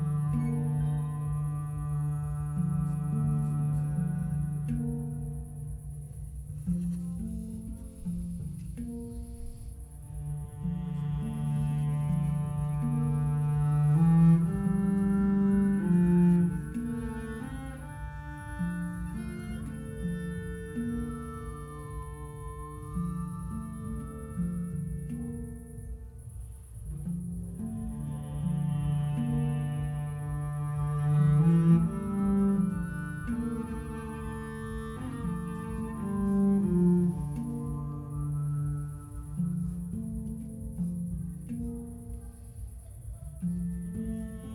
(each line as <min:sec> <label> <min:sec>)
0:00.0 Hang, a new percussive instrument 0:44.5